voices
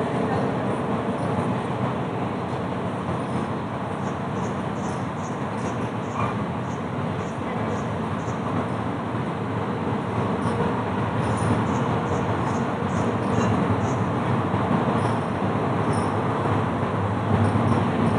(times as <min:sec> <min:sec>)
0:00.0 0:01.8, 0:07.1 0:08.6